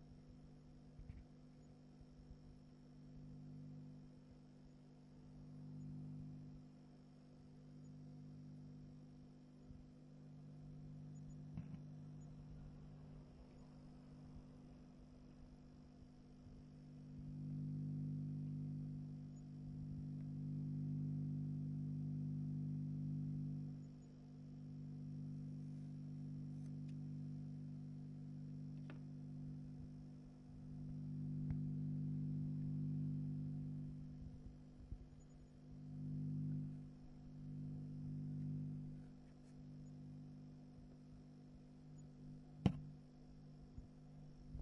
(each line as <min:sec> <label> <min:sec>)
0:07.8 Low frequency hypnotic noise 0:21.8
0:23.5 Low frequency hypnotic noise 0:44.6